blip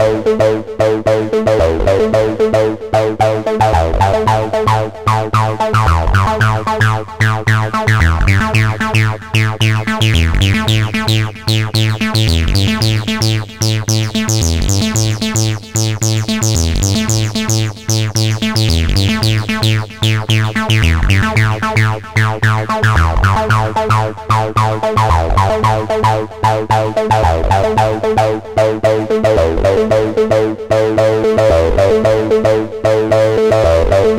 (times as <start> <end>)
5.1 26.1